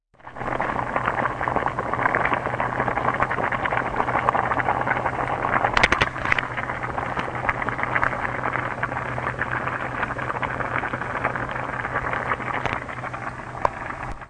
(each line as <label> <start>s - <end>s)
pot with spaghetti noodles boiling inside 0.2s - 14.2s
small pops and breaking noises 5.8s - 6.4s